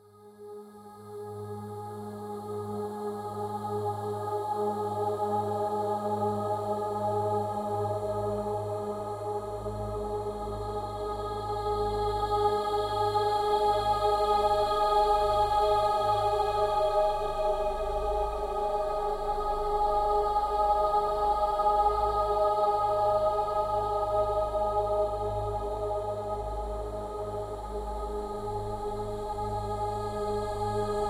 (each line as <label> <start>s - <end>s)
choir synthetic 0.1s - 31.0s